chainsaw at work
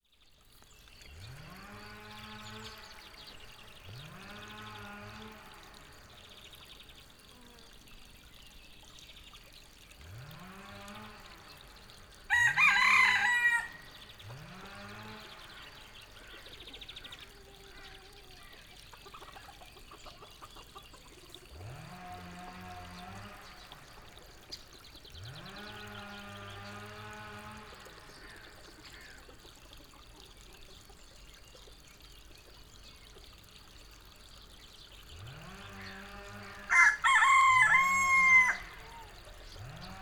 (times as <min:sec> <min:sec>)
0:01.0 0:07.6, 0:09.9 0:17.9, 0:21.5 0:29.2, 0:35.0 0:40.0